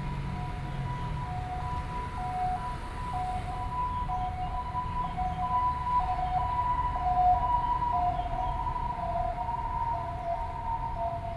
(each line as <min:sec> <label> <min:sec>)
0:00.0 Traffic Sound 0:04.1
0:00.0 MRT train passes 0:11.3